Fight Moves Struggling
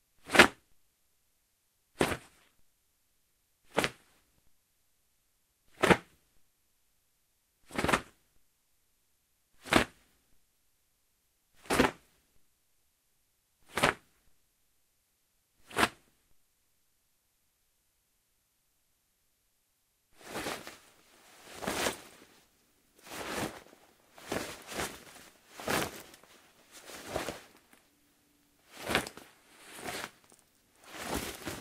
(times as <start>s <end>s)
20.2s 22.4s, 23.0s 27.8s, 28.7s 31.6s